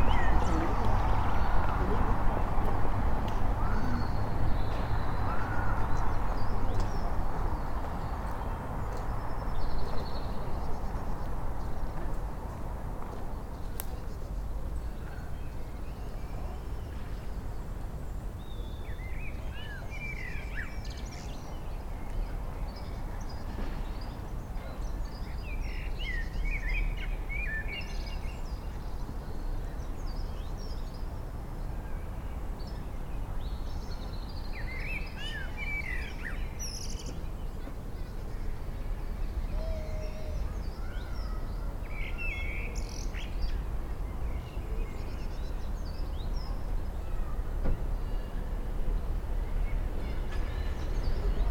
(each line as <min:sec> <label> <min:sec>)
0:00.0 Blackbird singing 0:00.7
0:39.3 Blackbird singing 0:43.6